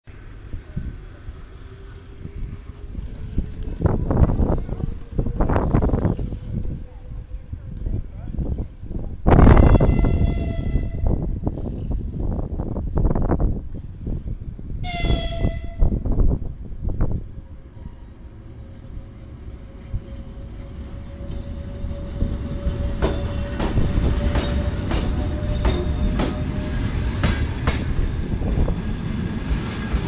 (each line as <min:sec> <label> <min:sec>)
0:00.1 wind sound 0:30.0
0:18.9 Train wheels sound 0:30.0